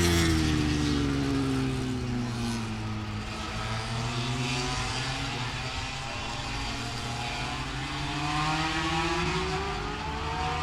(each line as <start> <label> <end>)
0.0 moto grand prix qualifying two 10.6